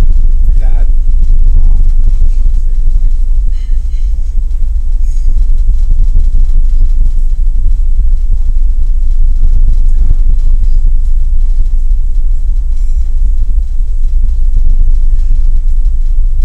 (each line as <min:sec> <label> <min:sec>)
0:00.0 people talking 0:01.0
0:00.0 muffled ferry engine 0:16.4
0:01.8 people talking 0:04.2